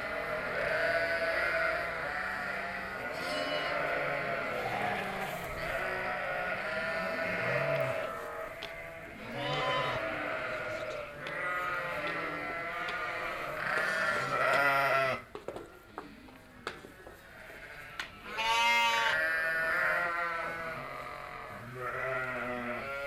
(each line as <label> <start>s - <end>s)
sheeps on the meadow 0.0s - 23.0s